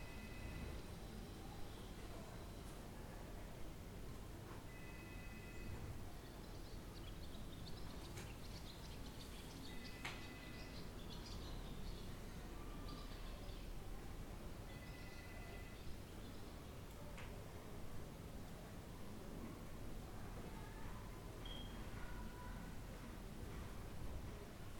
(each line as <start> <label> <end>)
0.0 ringing phone in the background 1.2
4.7 ringing phone in the background 5.9
9.7 ringing phone in the background 10.8
14.6 ringing phone in the background 15.9
18.4 People talking 23.6
21.4 ringing phone in the background 21.8